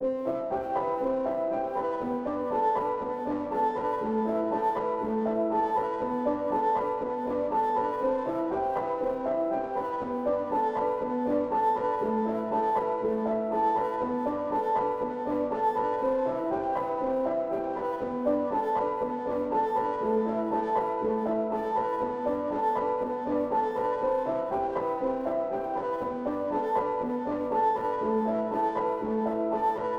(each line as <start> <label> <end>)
0.0 piano 29.9